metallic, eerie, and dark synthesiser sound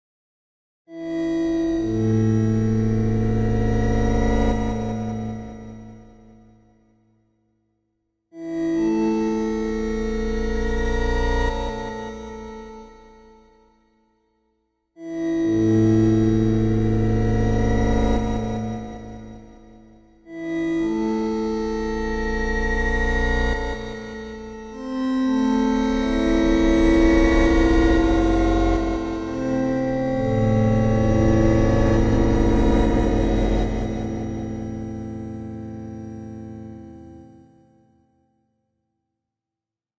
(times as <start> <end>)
25.9 35.8